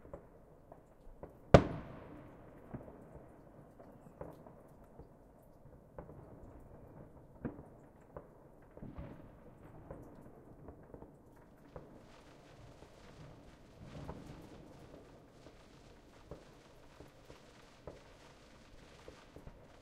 melting snow dripping off of my porch's roof 0.0 - 19.8
fireworks being set off 11.4 - 19.8

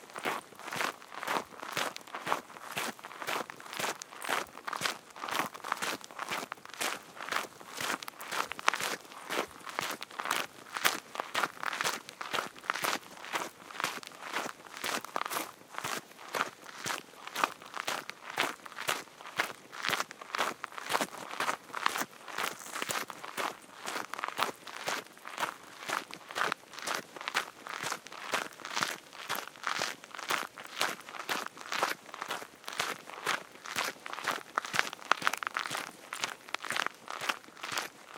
footsteps 21.4 - 27.0

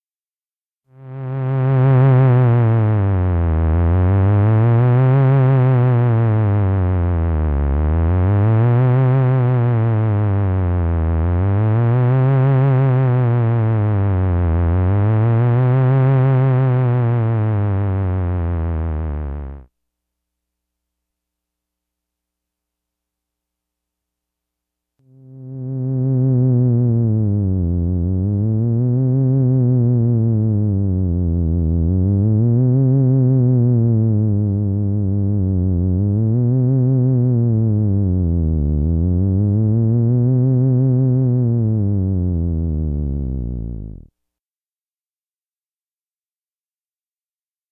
authentic theremin 1.0 - 19.7
authentic theremin 25.1 - 44.1

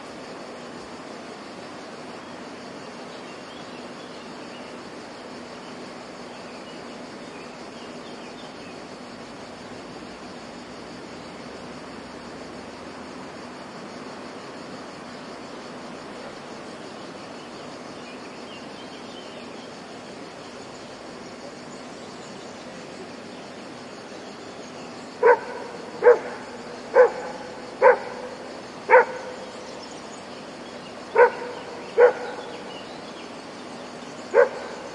dog barking far away 25.2 - 29.4
dog barking far away 31.1 - 32.6
dog barking far away 34.3 - 34.9

